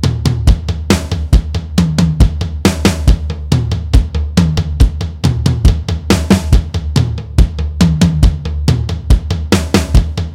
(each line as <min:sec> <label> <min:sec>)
0:00.0 Rock drum loop 0:10.3